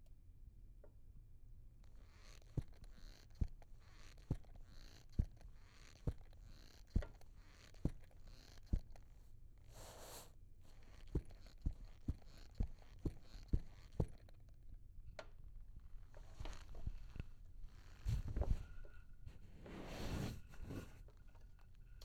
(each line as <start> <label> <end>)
10.8 Squeaky boots walking 14.3